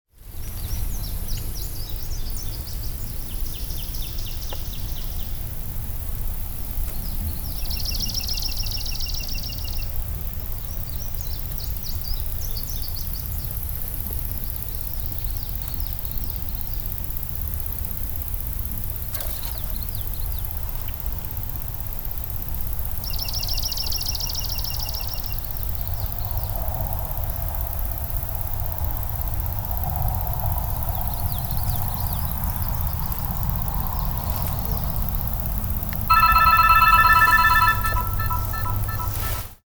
36.1s cell phone ringtone 39.5s

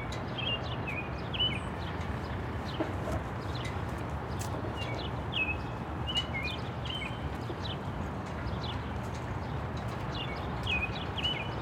0.0s traffic 11.6s
0.3s bird singing 1.8s
4.8s bird singing 7.8s
10.1s bird singing 11.6s

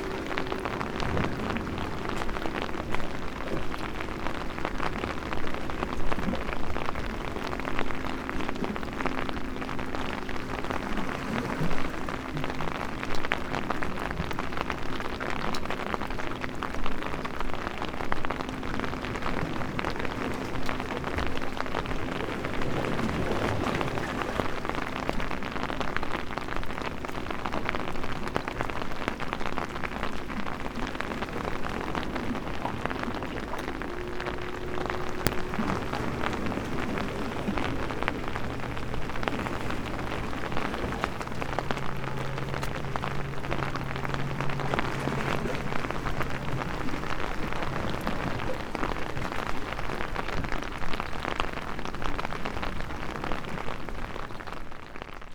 0.0s rain 55.3s
0.0s walk with umbrella 55.3s

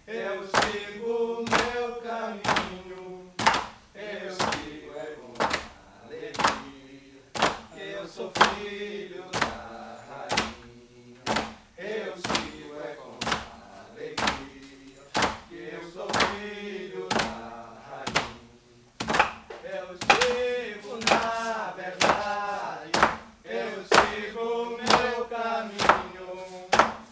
3.4s hammering the vine 3.8s
10.2s hammering the vine 13.6s
14.2s hammering the vine 15.5s
16.1s hammering the vine 16.5s
17.1s hammering the vine 17.4s
19.0s hammering the vine 23.3s
23.9s hammering the vine 27.1s

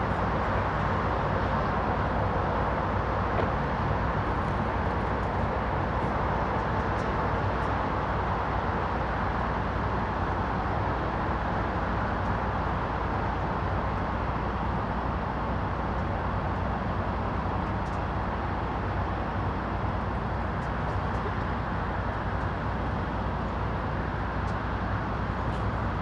0.0s highway 26.0s

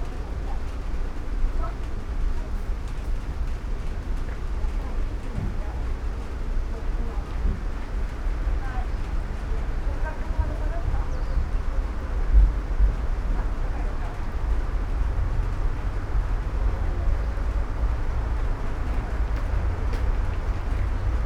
0.0s soft rain 21.2s

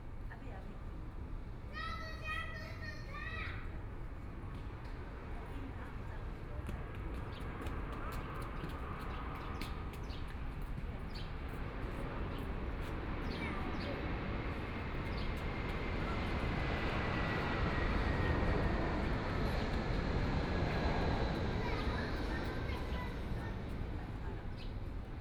1.1s Children in the play area 8.0s
21.3s Children in the play area 25.2s

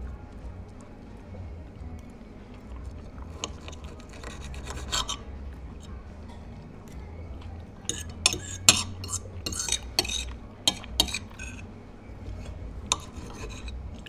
0.0s other people eating 14.0s

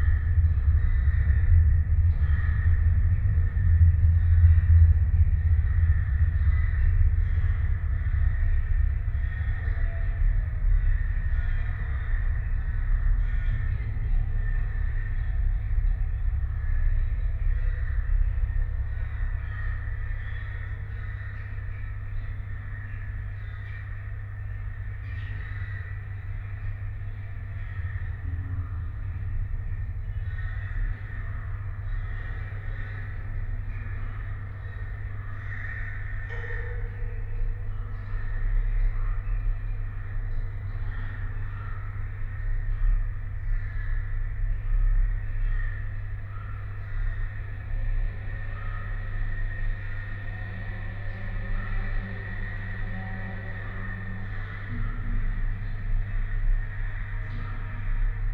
0.0s transport drone 25.0s
0.0s hundreds of crows 58.3s
25.8s transport drone 42.4s
44.2s transport drone 58.3s

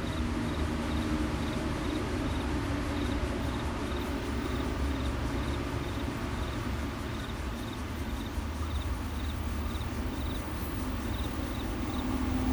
0.0s MRT trains through 12.5s
3.0s Insect sounds 12.5s

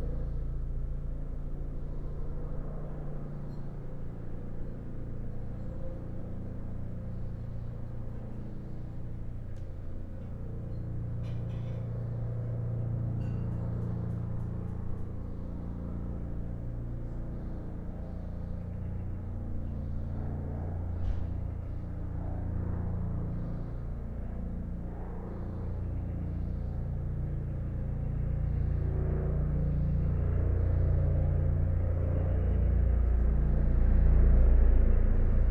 0.0s helicopter 35.5s

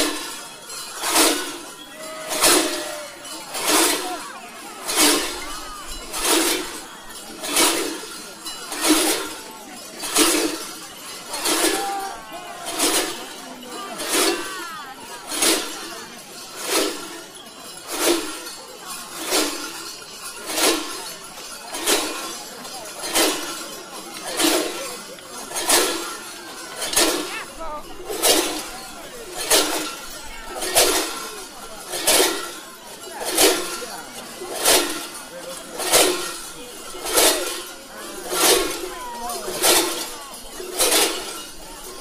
0.0s Mamuthones Parade 42.0s

